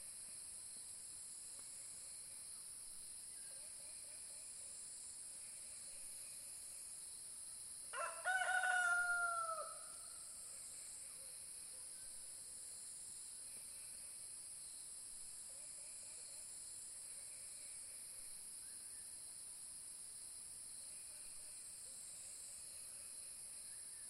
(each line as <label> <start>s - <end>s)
Song of the night of spotted frogs 0.0s - 24.0s
sound of the rooster 7.9s - 10.1s